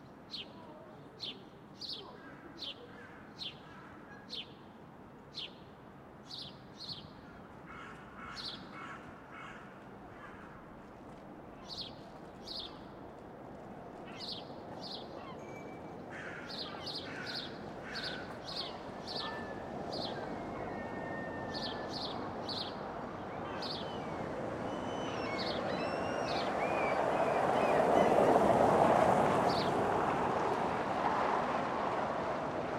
9.2s traffic 32.7s
14.1s birds 28.6s

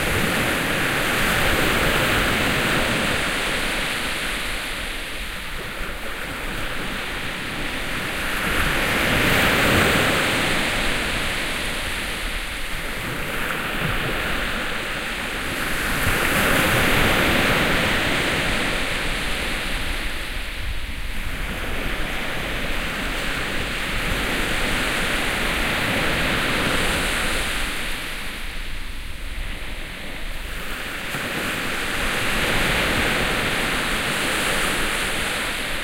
0.0s Seaside Waves 35.8s

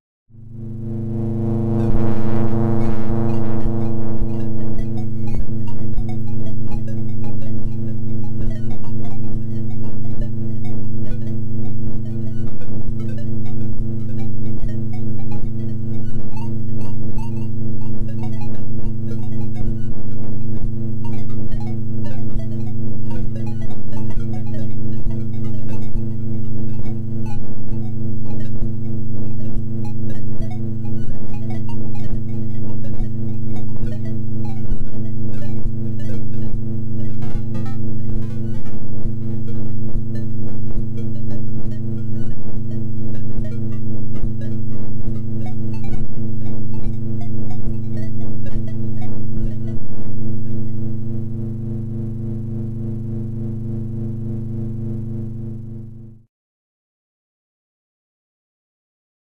0.5s synth 52.7s

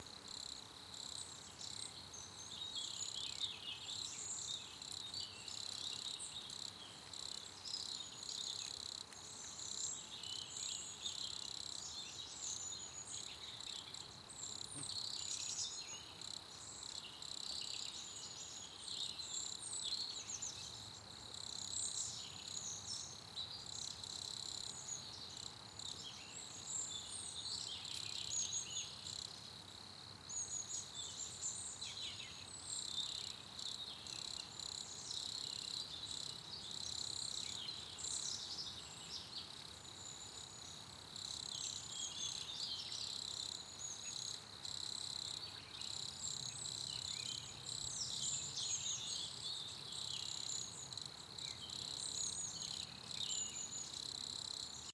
0.0s Birds 54.9s
0.0s Crickets 54.9s

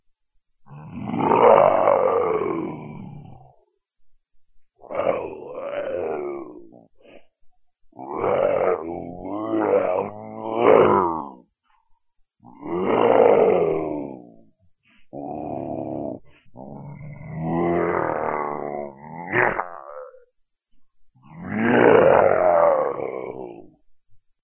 0.7s monster 3.4s
4.8s monster 6.9s
8.0s monster 11.5s
12.4s monster 14.5s
15.1s monster 20.3s
21.2s monster 23.8s

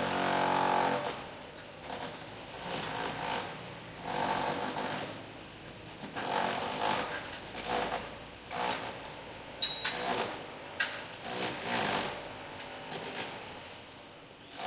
0.0s Workers in the facade of a building 14.6s

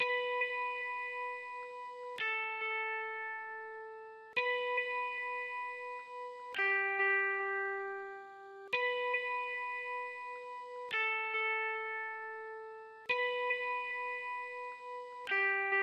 0.0s Guitar Harmonic 15.8s

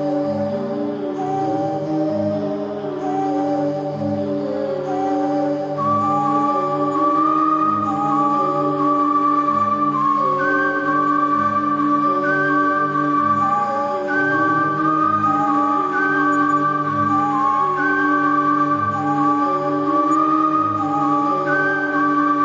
0.0s whistle 22.4s

